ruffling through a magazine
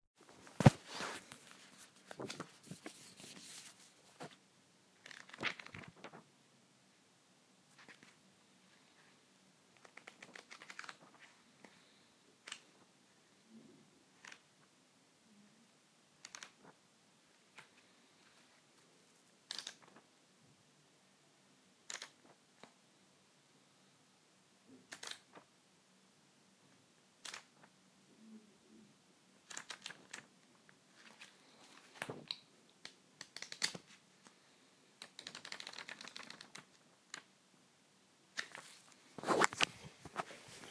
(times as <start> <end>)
0.3 4.4, 5.0 6.2, 38.4 40.7